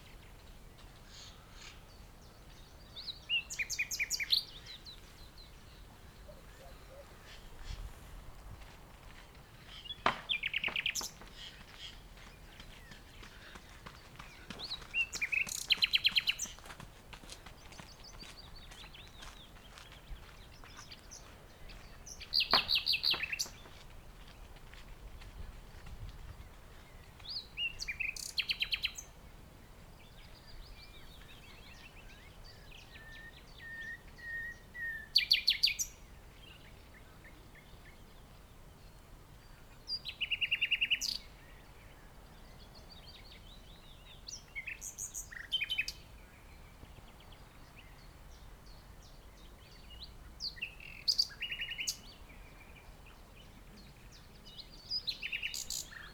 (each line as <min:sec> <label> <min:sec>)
0:00.1 Bird 0:08.0
0:09.4 Bird 0:23.9
0:26.4 Bird 0:29.2
0:39.6 Bird 0:56.1